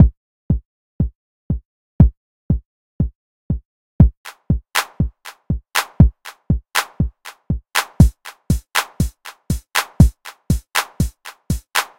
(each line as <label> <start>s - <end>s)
drumbeats 4.0s - 11.9s
claps 4.3s - 11.9s